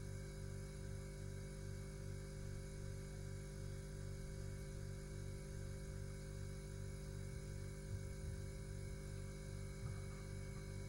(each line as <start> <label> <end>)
9.1 Refrigerador Tone 10.8